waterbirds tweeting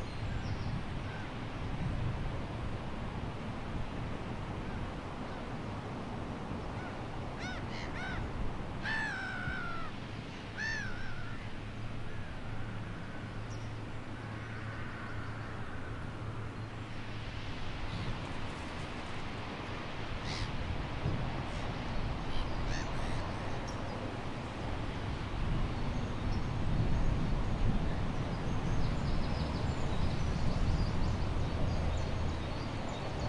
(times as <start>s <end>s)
20.2s 20.6s, 21.4s 24.3s, 24.9s 33.2s